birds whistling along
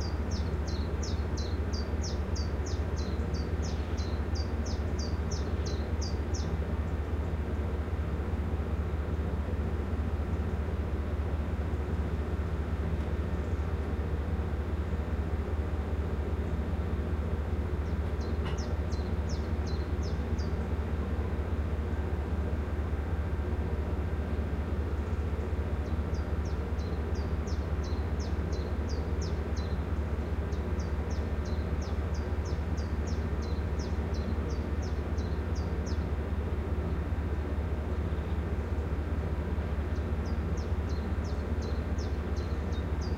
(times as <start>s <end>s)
0.0s 6.6s